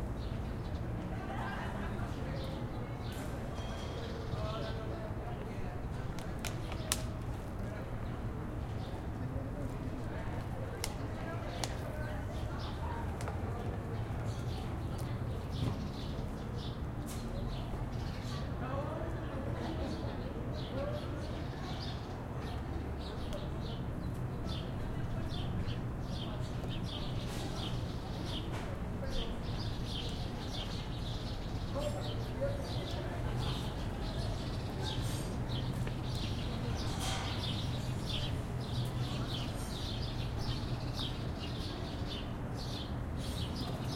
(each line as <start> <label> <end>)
0.7 Conversations 16.8
13.8 birds on a tree 43.9
17.6 Conversations 43.9